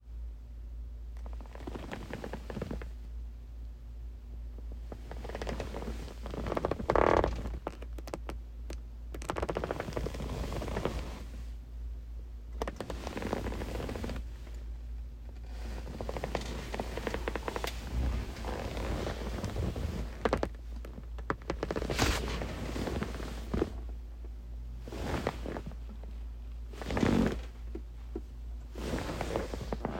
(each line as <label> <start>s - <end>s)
someone sitting in the chair 9.1s - 11.5s
movement in the chair 9.2s - 11.3s
someone sitting in the chair 12.6s - 14.6s
movement in the chair 12.6s - 14.3s
someone sitting in the chair 15.4s - 24.0s
movement in the chair 15.4s - 23.9s
someone sitting in the chair 24.8s - 29.9s
movement in the chair 24.8s - 26.1s
movement in the chair 26.7s - 27.8s
movement in the chair 28.7s - 29.9s